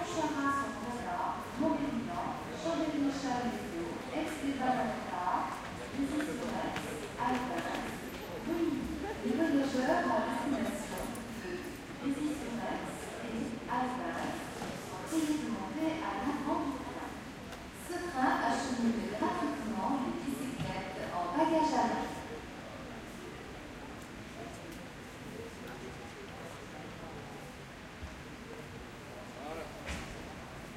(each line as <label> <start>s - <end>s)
French announcements 0.0s - 22.3s
crowd 0.0s - 30.7s
train 2.6s - 9.1s